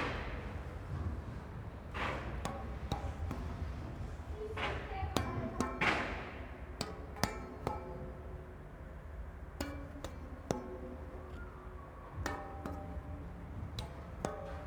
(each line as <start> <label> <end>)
2.0 Playing the tuneful metal bridge 14.6